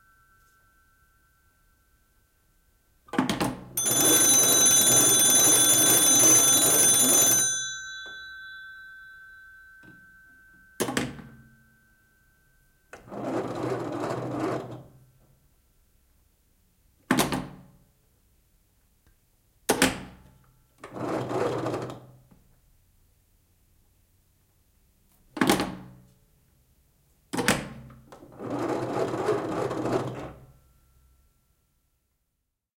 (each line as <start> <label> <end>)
0.0 Ring 3.1
3.7 Ring 13.9